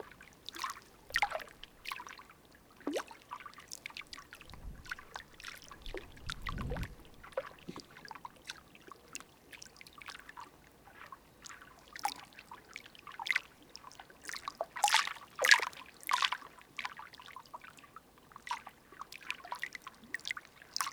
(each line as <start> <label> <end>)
4.3 water flowing 8.1